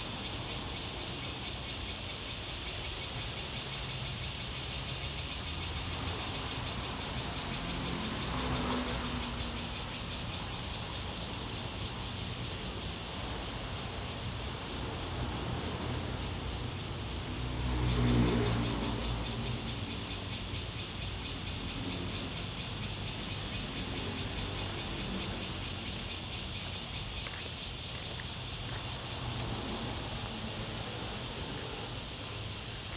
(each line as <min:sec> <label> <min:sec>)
0:00.0 Cicadas cry 0:32.9
0:00.0 Traffic Sound 0:32.9
0:07.6 river 0:32.9